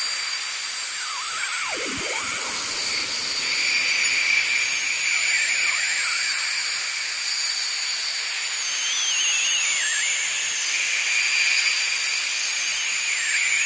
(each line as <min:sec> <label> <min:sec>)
0:00.0 ambient space drone 0:13.6
0:00.2 Whistling birds with added space effects 0:13.6